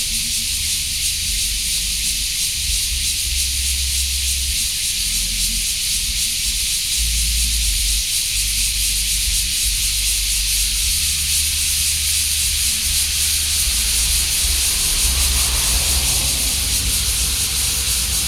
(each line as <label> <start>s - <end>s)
Cicadas 0.0s - 18.2s